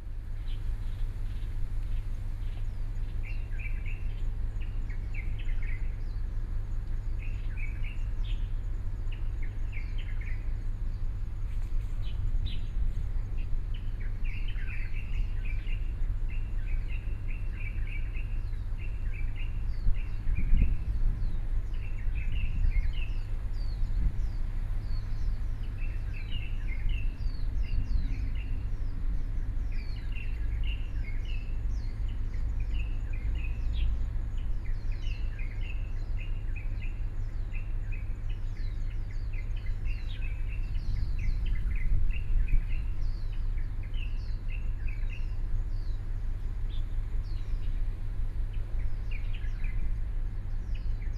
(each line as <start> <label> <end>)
0.0 Birdsong sound 51.1